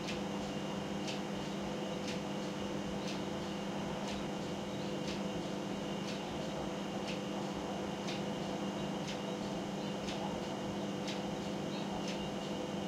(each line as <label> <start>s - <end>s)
clock 0.8s - 12.8s